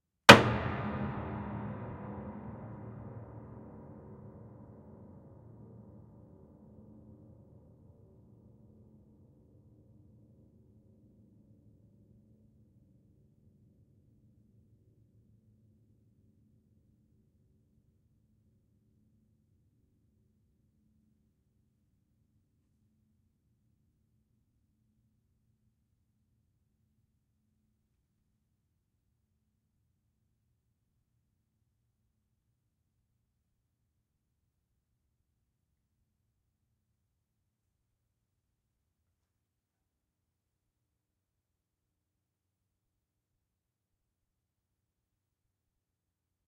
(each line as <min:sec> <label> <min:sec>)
0:00.3 SHARP HAMMER STRIKE2 0:04.3